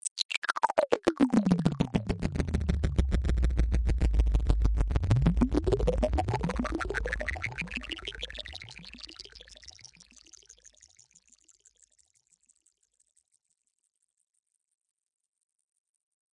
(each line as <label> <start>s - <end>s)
synth 0.0s - 9.6s